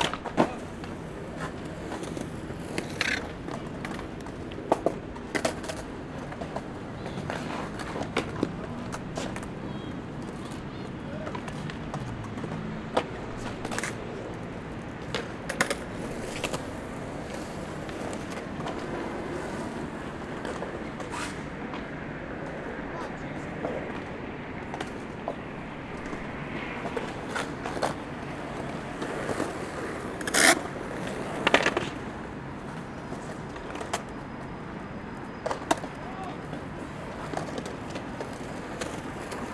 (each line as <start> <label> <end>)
0.0 Skating Sounds 39.5